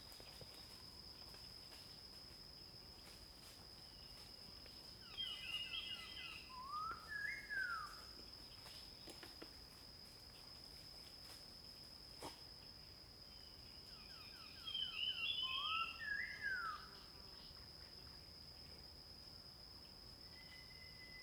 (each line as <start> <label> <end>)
12.2 Dog 12.4